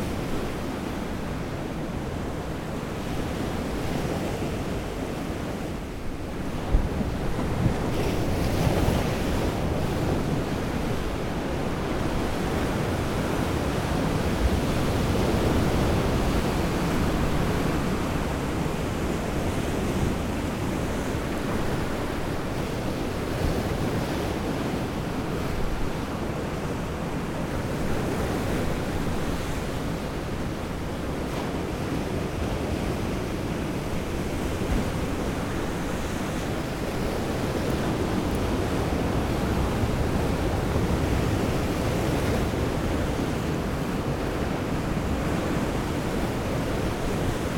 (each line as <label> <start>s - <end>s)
Heavy waves on a rock 0.0s - 47.5s